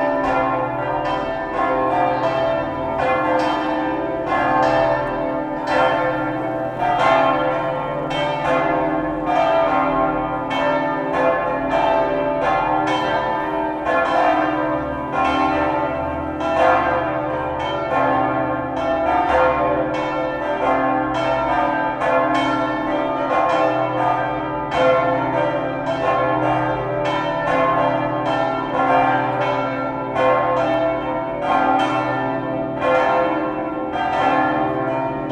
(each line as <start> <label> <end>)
0.0 Cathedral bells 35.3